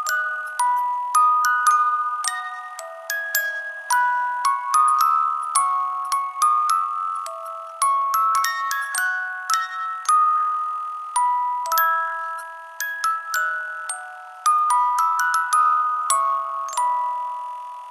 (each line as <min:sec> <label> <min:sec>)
0:00.0 Music box lullaby 0:17.9